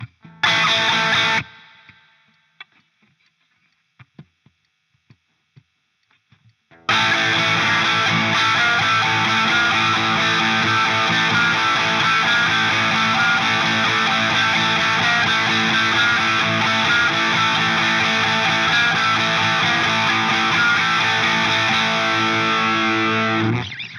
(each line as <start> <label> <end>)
0.0 Guitar riff 2.0
6.7 Guitar riff 23.8